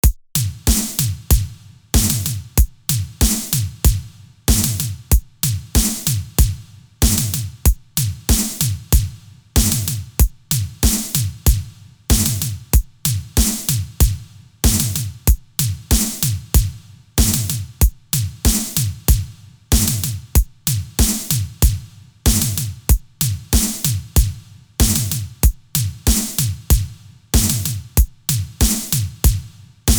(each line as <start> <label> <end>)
0.0 Snare 1.2
0.0 Kick Drum 29.9
3.2 Snare 3.7
8.3 Snare 8.8
21.0 Snare 21.6
23.5 Snare 24.0
26.1 Snare 26.6
27.4 Snare 27.8
28.6 Snare 29.2